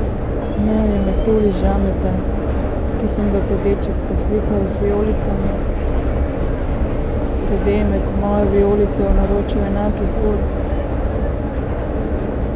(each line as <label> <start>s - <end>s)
S-bahn 0.0s - 12.5s